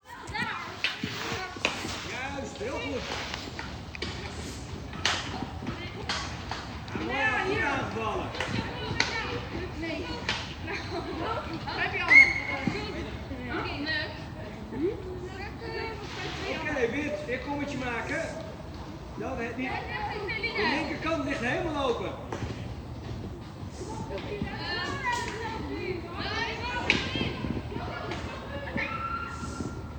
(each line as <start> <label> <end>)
0.0 girls hockey training 29.9
2.1 male coach 3.2
6.9 male coach 8.5
16.5 male coach 18.6
19.2 male coach 19.9
20.6 male coach 22.4